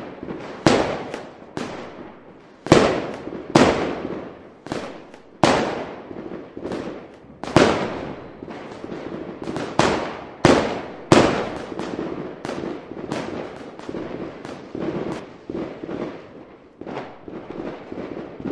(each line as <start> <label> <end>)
0.0 fireworks 18.5